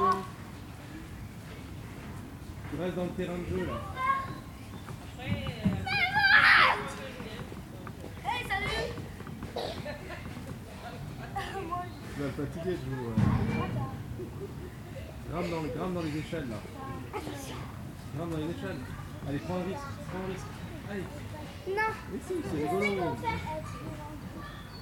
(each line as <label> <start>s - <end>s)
child playing in the park 0.0s - 24.8s
parent 3.5s - 24.8s